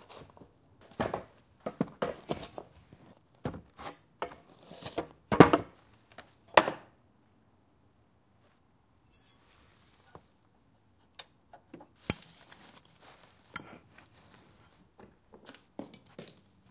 footsteps going up and down a wooden staircase 0:03.4 - 0:03.8

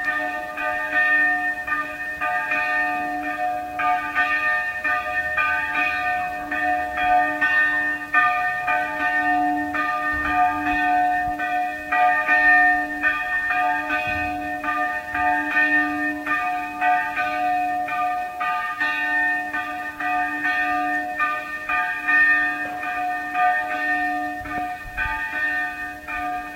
Old church bell 0:00.0 - 0:26.5

